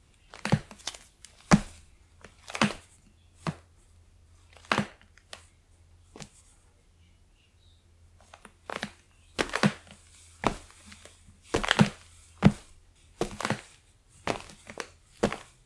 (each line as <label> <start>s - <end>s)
Footsteps on the old wooden floor 8.7s - 15.6s